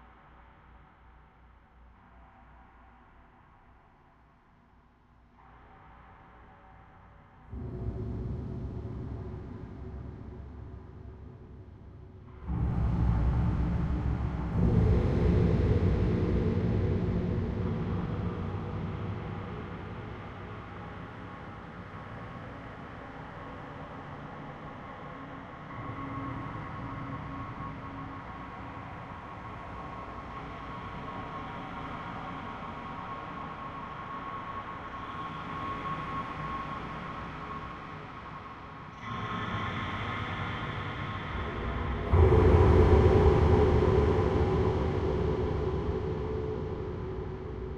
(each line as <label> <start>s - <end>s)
Music 0.0s - 47.7s
Drone 39.1s - 47.7s